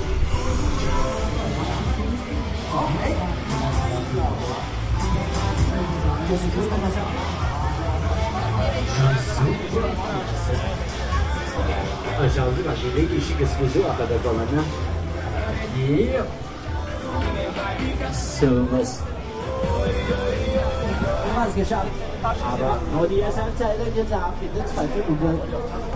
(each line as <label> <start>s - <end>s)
people 0.0s - 25.9s